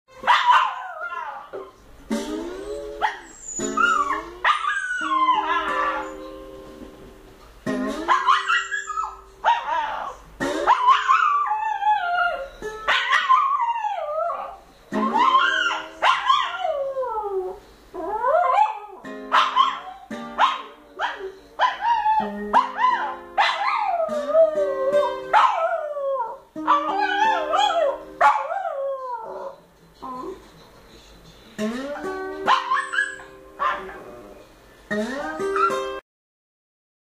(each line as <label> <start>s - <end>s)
slide guitar 1.5s - 30.5s
dog Malu singing 2.1s - 6.2s
slide guitar 31.2s - 36.0s
dog Malu singing 31.6s - 34.4s